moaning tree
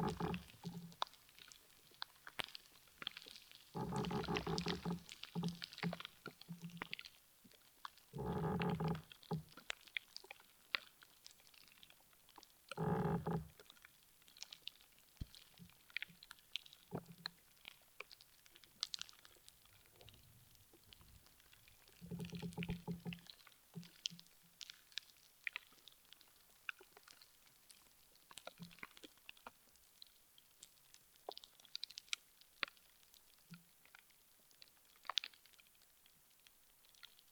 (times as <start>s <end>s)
0.0s 0.9s, 3.8s 5.6s